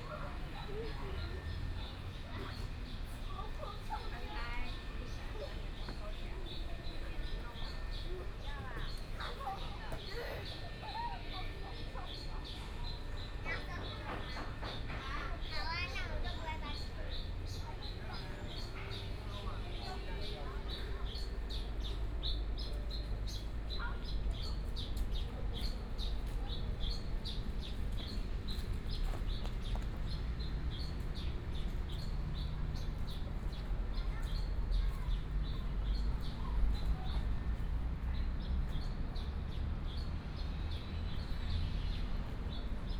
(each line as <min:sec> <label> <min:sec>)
0:11.7 birds 0:42.9
0:34.0 Child 0:35.3